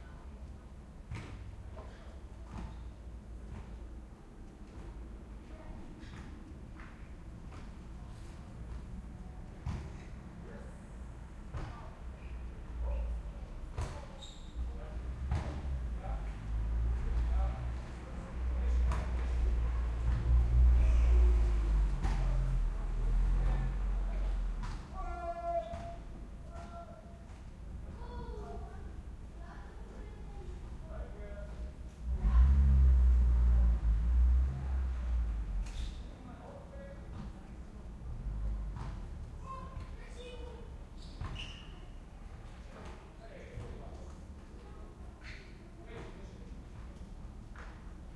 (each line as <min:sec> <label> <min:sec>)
0:00.0 group of people are playing with a ball outside 0:48.1
0:11.6 voices 0:27.3